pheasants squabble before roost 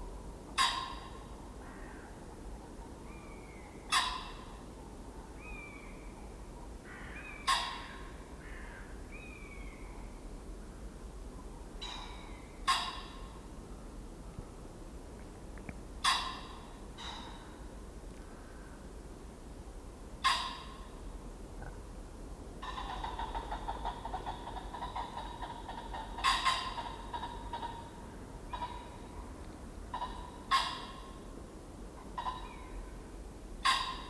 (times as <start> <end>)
3.7 4.7, 7.0 8.2, 11.8 13.5, 16.0 17.6, 22.6 29.2, 33.6 34.0